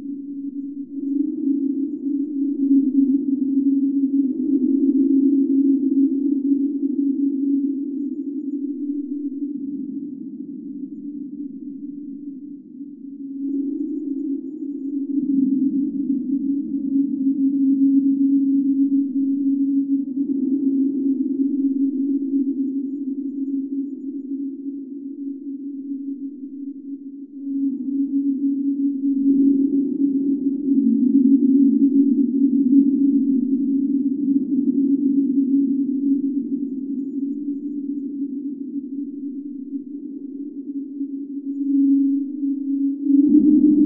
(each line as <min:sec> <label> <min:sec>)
0:00.0 drone 0:43.8